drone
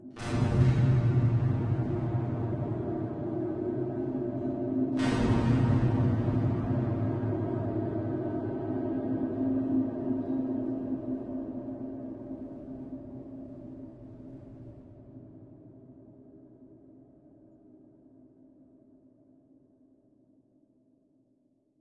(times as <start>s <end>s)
0.2s 13.5s